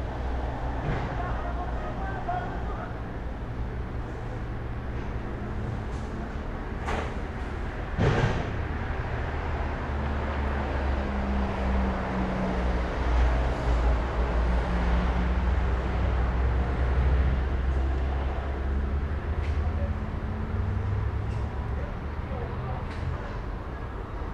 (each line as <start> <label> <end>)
0.0 Street traffic 24.3